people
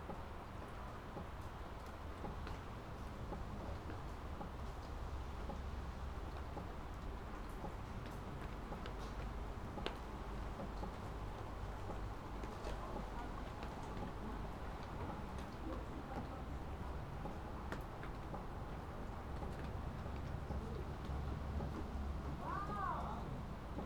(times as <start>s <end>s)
22.4s 23.4s